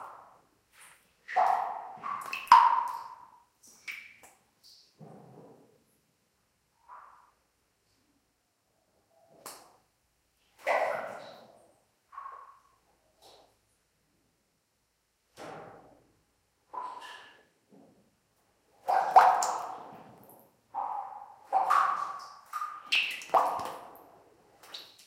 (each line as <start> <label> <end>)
0.8 water dripping on to standing water 5.0
18.8 water dripping on to standing water 25.0